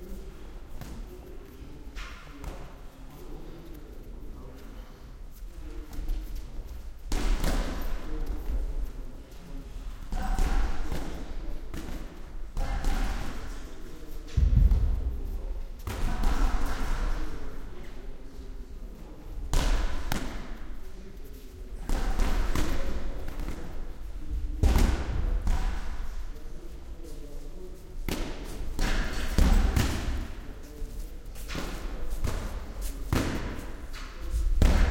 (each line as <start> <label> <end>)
14.3 kick 17.3
34.3 kick 34.9